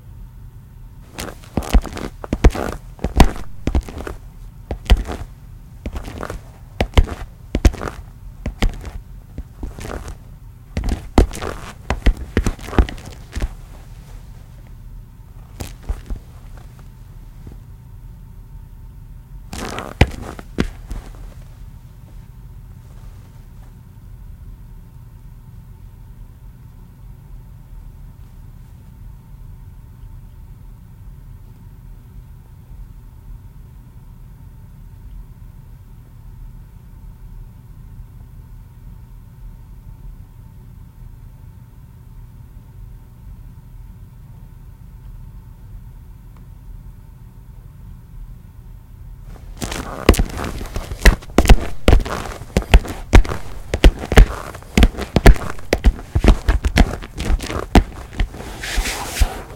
walking footsteps loafer shoes tile floor 0:01.1 - 0:14.8
walking footsteps loafer shoes tile floor 0:15.4 - 0:17.6
walking footsteps loafer shoes tile floor 0:19.6 - 0:22.3
walking footsteps loafer shoes tile floor 0:49.3 - 0:59.5

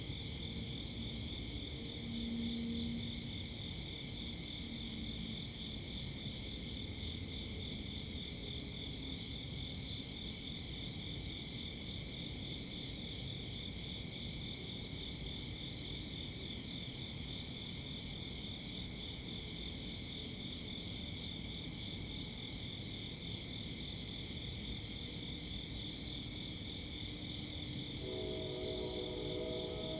crickets 0:00.0 - 0:29.9
Train horn 0:27.8 - 0:29.9

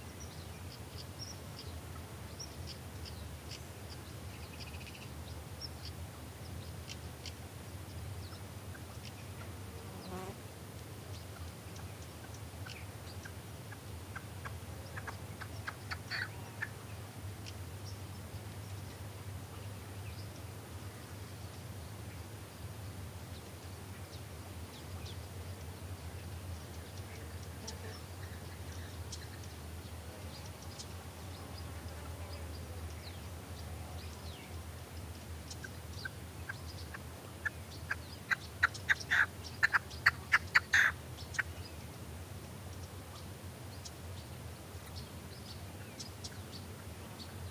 other birds chirping 0:11.1 - 0:20.5
Red-legged partridge calling 0:11.3 - 0:16.8
other birds chirping 0:23.3 - 0:41.9
Red-legged partridge calling 0:35.5 - 0:41.7

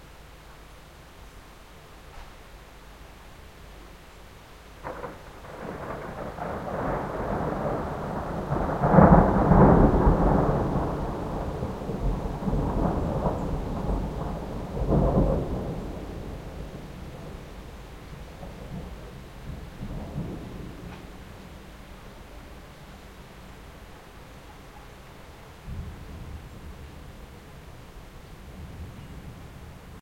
rain 0:00.0 - 0:30.0
thunderclaps 0:04.8 - 0:21.8
thunderclaps 0:25.6 - 0:27.2

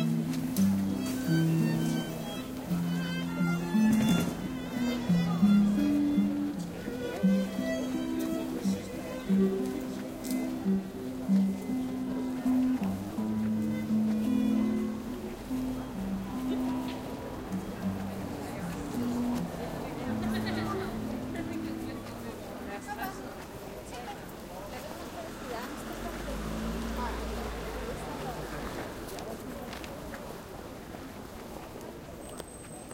street musicians playing 0:00.0 - 0:32.9
streetnoise 0:00.0 - 0:32.9
voice 0:14.2 - 0:30.7

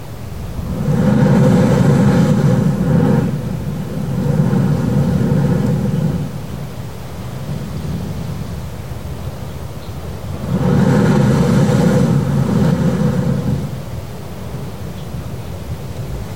jet of water which can be seen shooting up 0:00.0 - 0:16.3
waves 0:00.0 - 0:16.3
gurgling and groaning noise 0:00.3 - 0:06.7

